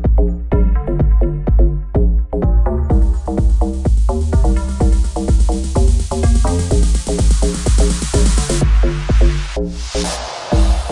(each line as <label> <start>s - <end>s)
Bassline 0.0s - 10.9s
Kick 0.0s - 10.9s